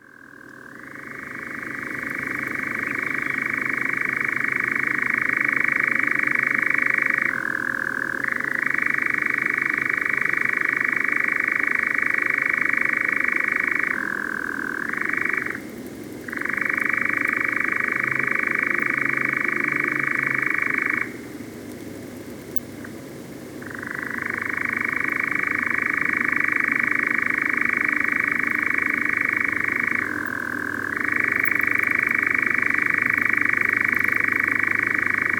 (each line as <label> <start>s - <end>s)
Nightjar churring 27.4s - 35.3s